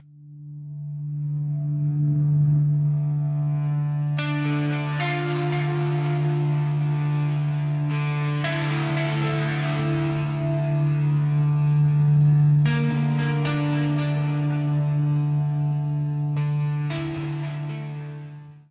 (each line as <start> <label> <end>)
0.0 guitar 18.7